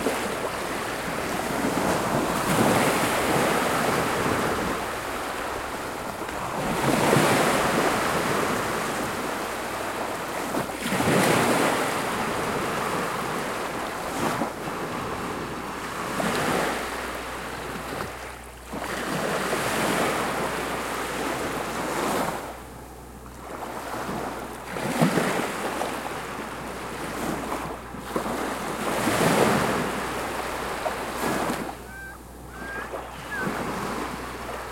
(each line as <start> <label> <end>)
0.0 motor boats in distance 34.7
25.6 Medium ocenwaves 34.7
30.1 Voices 34.7